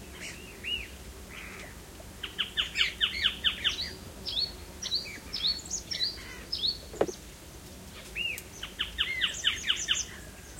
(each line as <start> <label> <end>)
0.0 birds 7.3
0.2 insects 10.5
6.9 gear shuffling 7.2